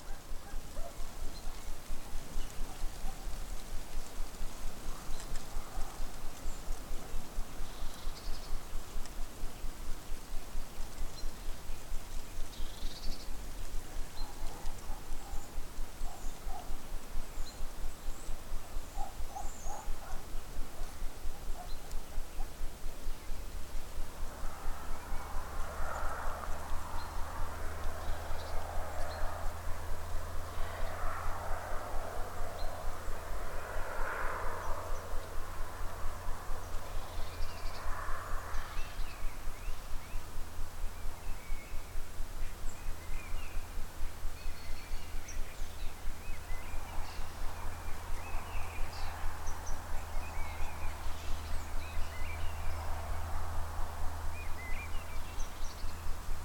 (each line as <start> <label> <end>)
0.0 Rustling leaves 56.4
0.0 bird calls 56.4
23.5 reverberations from cars passing by 41.7
45.2 reverberations from cars passing by 56.4